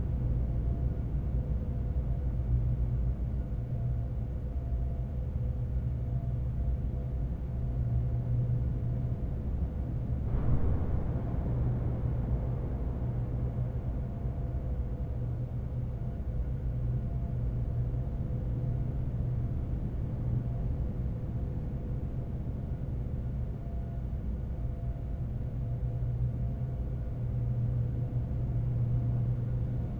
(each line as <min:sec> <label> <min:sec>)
0:00.0 hum 0:29.9